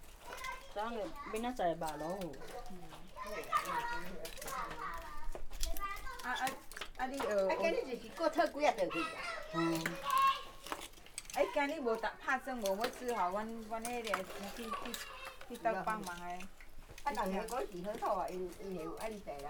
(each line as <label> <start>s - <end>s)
Children are playing 0.0s - 19.4s
old women are digging oysters 0.0s - 19.4s